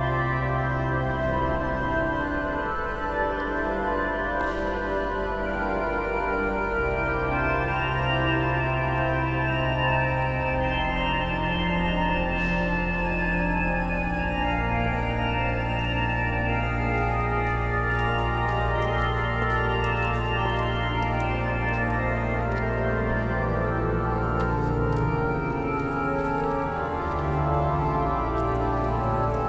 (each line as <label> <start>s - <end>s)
In cornu Epistolae organ 0.0s - 29.4s